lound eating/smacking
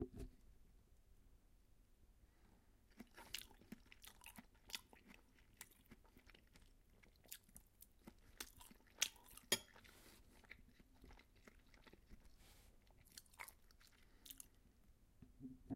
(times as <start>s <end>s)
2.9s 14.6s